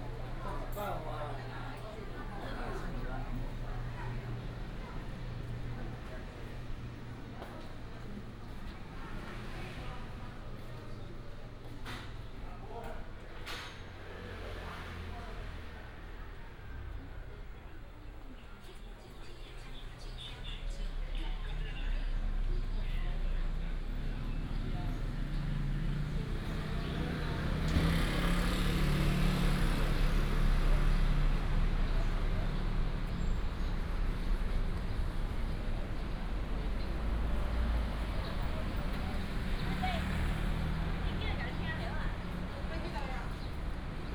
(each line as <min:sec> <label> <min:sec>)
0:00.0 Traffic sound 0:44.1
0:00.0 Walk through the market 0:44.1